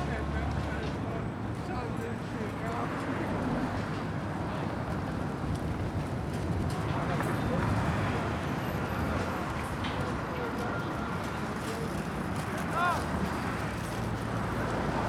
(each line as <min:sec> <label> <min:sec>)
0:00.0 people going in all directions 0:15.0
0:00.0 traffic 0:15.0
0:09.8 construction workers moving and dropping building materials 0:14.2